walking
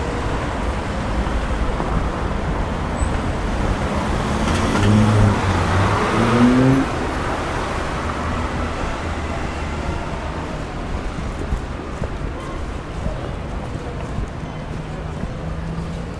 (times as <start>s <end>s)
8.8s 16.1s